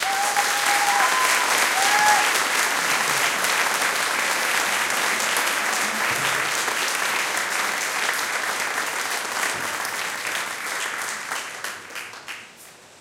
cheering 0:00.0 - 0:07.1
audience applauding 0:00.0 - 0:12.6

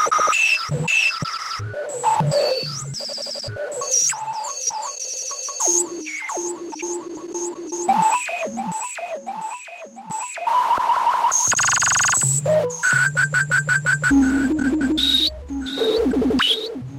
glitchy pad 0:14.1 - 0:16.9

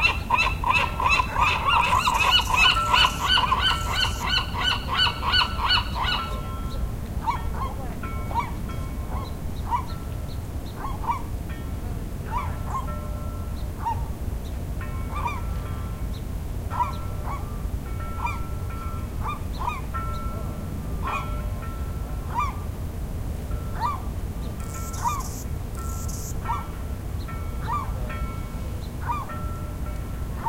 seagull 0:00.0 - 0:06.5
bugs 0:01.3 - 0:04.4
seagull 0:22.3 - 0:22.6
bugs 0:24.6 - 0:26.4
seagull 0:29.0 - 0:29.3

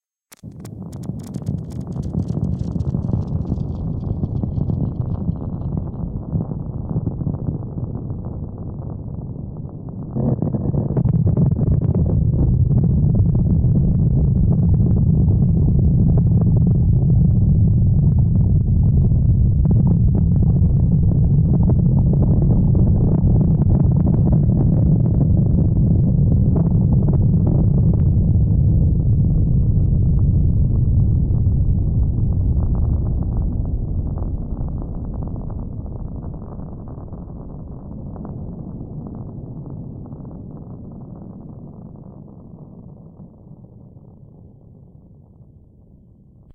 earthquake 0:00.3 - 0:46.5

